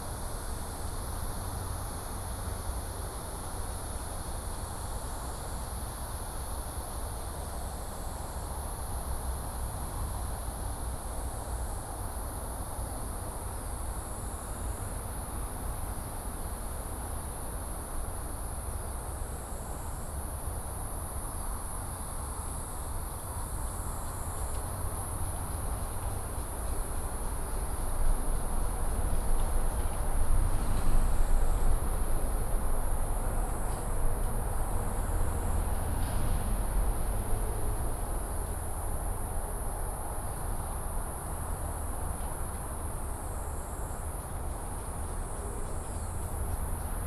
traffic sound 0:22.9 - 0:47.0

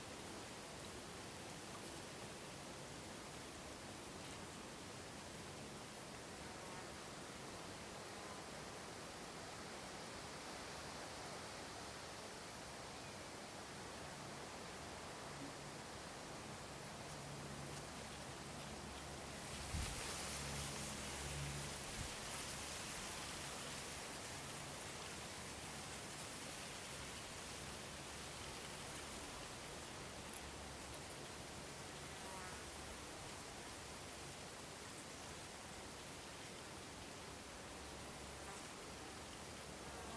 quiet lake 0:00.0 - 0:40.1

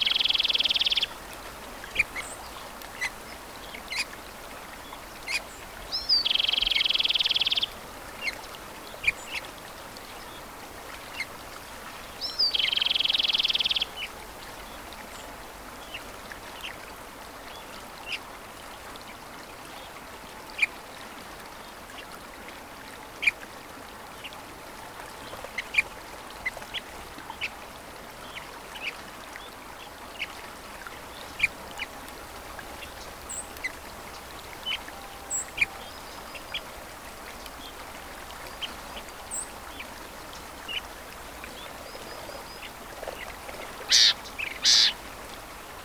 Dawn chorus of birds 0:00.0 - 0:16.2
river 0:00.0 - 0:45.8
Dawn chorus of birds 0:31.0 - 0:45.8

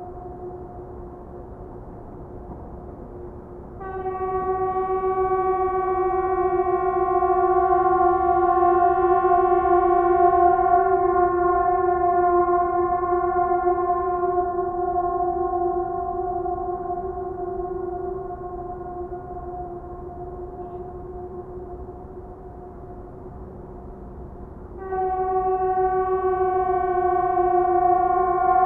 Emergency horns testing 0:03.8 - 0:23.1
Emergency horns testing 0:24.8 - 0:28.6

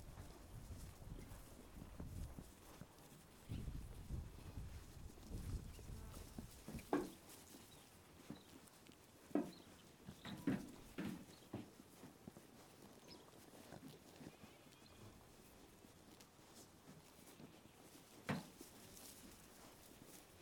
sheep greedily eating its food so fast 0:00.0 - 0:20.4
sheep munching their food 0:00.0 - 0:20.4
Shetland sheep entering their pen 0:05.3 - 0:07.7
Shetland sheep entering their pen 0:09.3 - 0:11.8
Shetland sheep entering their pen 0:17.4 - 0:20.3

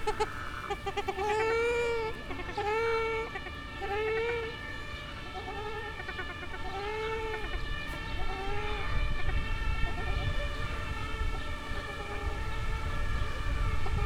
ducks 0:00.0 - 0:14.0
other birds 0:00.0 - 0:14.0

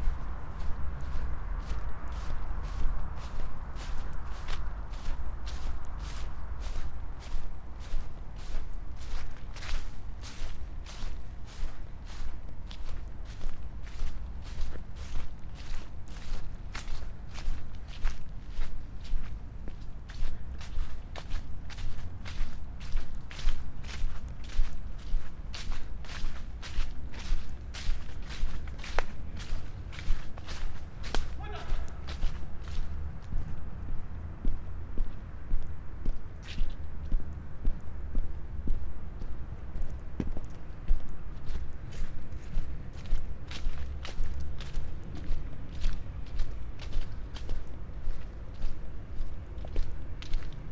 fallen leaves 0:00.0 - 0:18.0
round walk in the city park 0:00.0 - 0:50.7
fallen leaves 0:21.7 - 0:32.9
shout 0:31.4 - 0:32.1

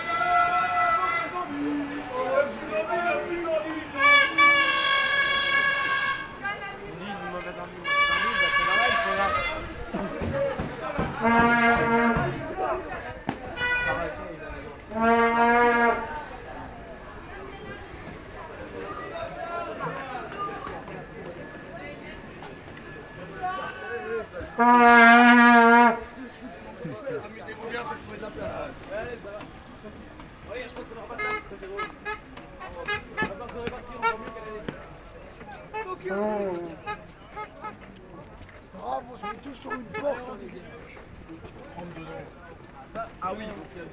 train is leaving 0:07.8 - 0:26.8

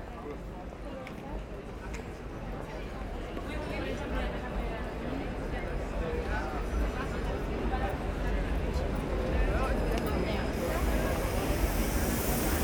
very very very much tourists 0:10.0 - 0:12.6
tramways driving on a curve 0:10.4 - 0:12.6

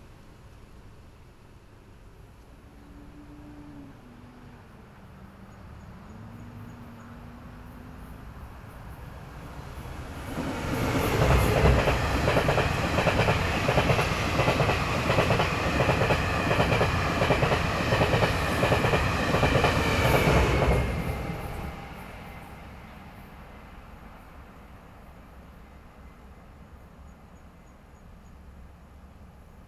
Train traveling through 0:00.0 - 0:29.6
Traffic Sound 0:02.4 - 0:23.8

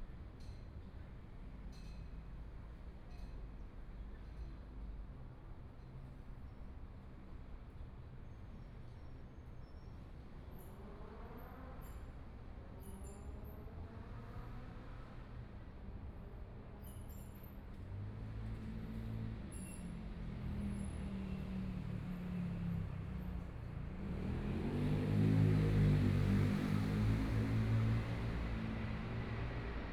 Traffic Sound 0:17.6 - 0:29.9

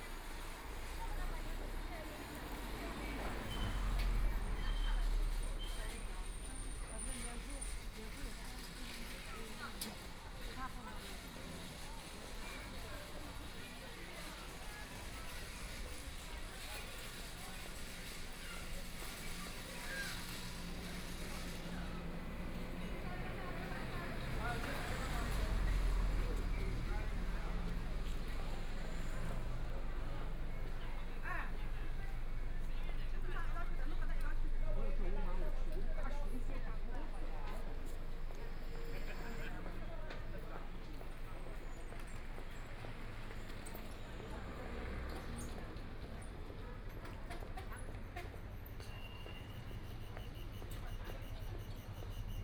Walking on the street 0:00.0 - 0:52.4

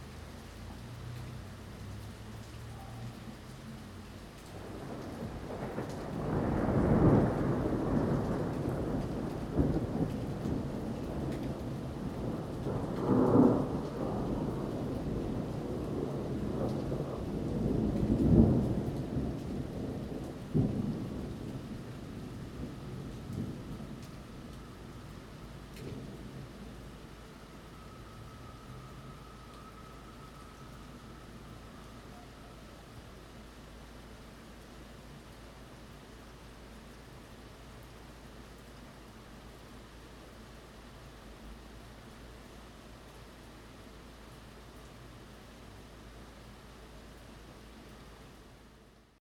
rain 0:00.0 - 0:49.2
Thunder 0:04.6 - 0:25.1
Thunder 0:25.7 - 0:26.9

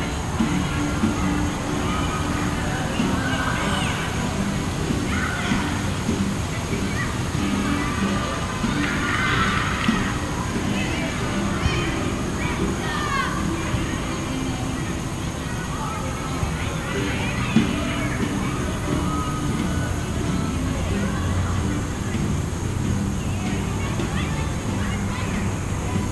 traffic 0:00.0 - 0:11.4
sounds from soccer practice 0:00.0 - 0:26.1
traffic 0:14.2 - 0:26.1

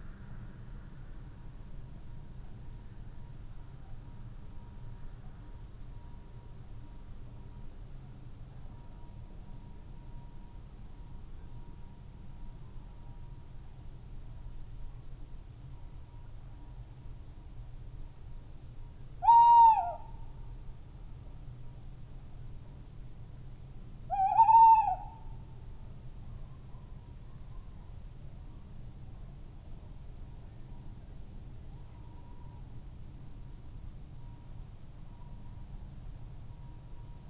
tawny owls 0:19.2 - 0:20.1
tawny owls 0:24.1 - 0:25.2

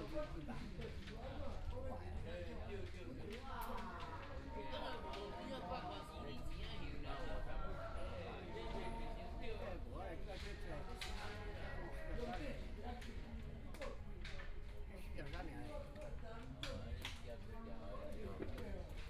Dialogue among the elderly 0:00.0 - 0:19.0

